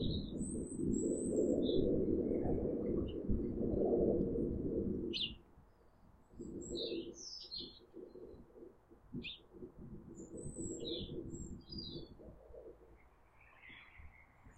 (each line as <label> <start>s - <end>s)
birds 5.1s - 14.5s